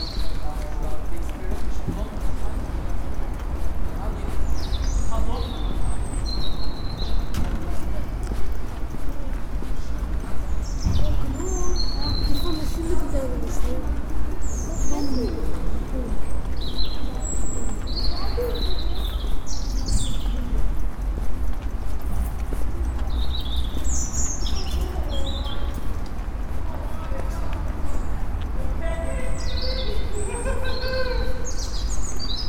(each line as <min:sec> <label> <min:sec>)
0:00.0 Birds 0:32.4
0:00.0 Walk 0:32.4
0:00.0 pedestrian 0:32.4
0:00.0 pupils meeting 0:32.4